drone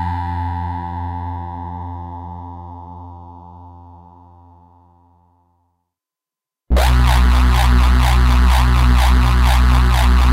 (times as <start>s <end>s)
6.7s 10.3s